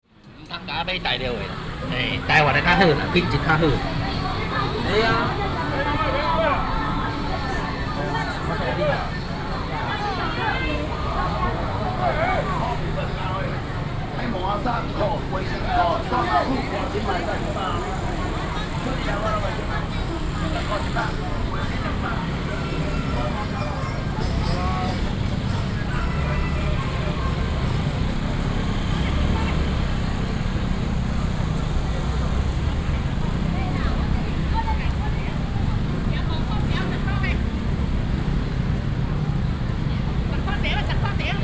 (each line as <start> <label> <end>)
0.0 Street vendors selling voice 41.4
0.0 Very noisy market 41.4
0.1 motorcycle sounds 41.4